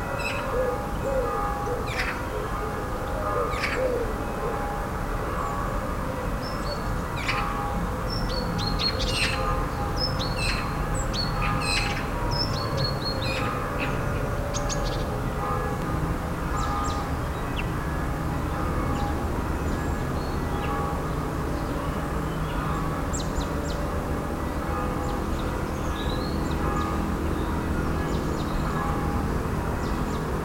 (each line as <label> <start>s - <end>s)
birds are singing 0.0s - 4.7s
Bells are ringing 0.0s - 30.4s
birds are singing 5.3s - 15.6s
birds are singing 16.5s - 30.4s